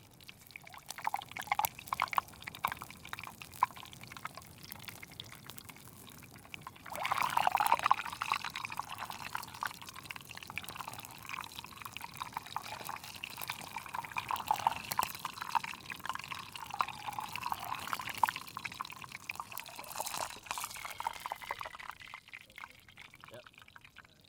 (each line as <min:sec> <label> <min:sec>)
0:00.0 bubbling wax 0:24.2
0:06.8 fizzing sound 0:09.9
0:10.6 fizzing sound 0:24.2